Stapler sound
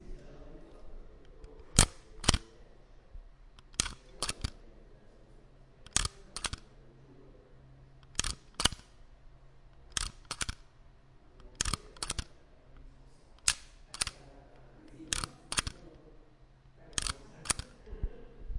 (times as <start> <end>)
1.6 2.4, 3.6 4.6, 5.9 6.6, 8.0 9.0, 9.9 10.6, 11.5 12.3, 13.4 14.2, 15.1 15.8, 17.0 17.7